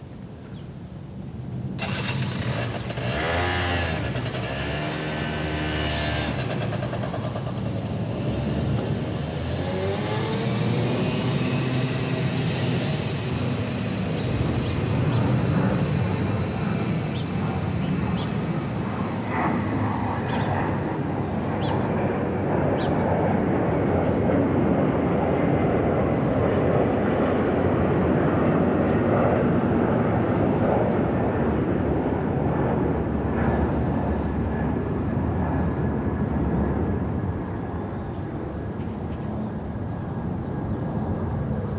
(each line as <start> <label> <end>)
0.0 airplanes overflying every three minutes 41.7
1.7 passers-by 41.7